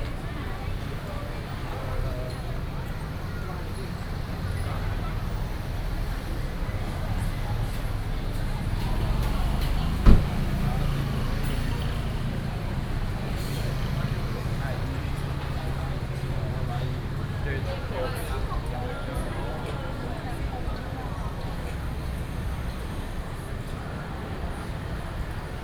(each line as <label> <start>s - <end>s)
Traffic noise 0.0s - 25.6s
walking in the Street 0.0s - 25.6s